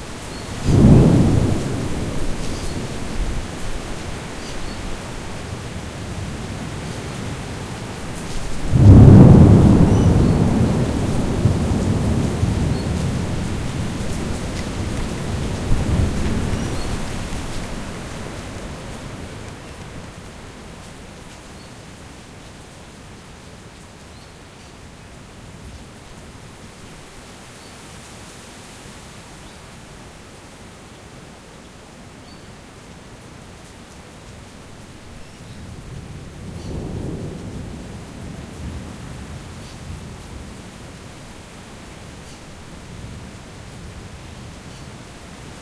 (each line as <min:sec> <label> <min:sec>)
0:00.0 Torrential rain 0:45.6
0:00.0 wind 0:45.6
0:00.6 thunder from sheet lightning 0:03.6
0:08.2 thunder from sheet lightning 0:17.7
0:36.5 thunder from sheet lightning 0:38.9